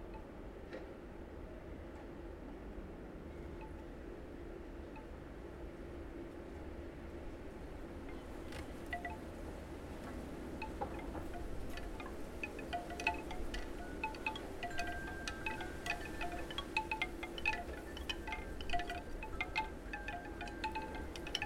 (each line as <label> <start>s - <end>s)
wind 0.0s - 21.4s
chimes 8.9s - 9.4s
chimes 10.6s - 21.4s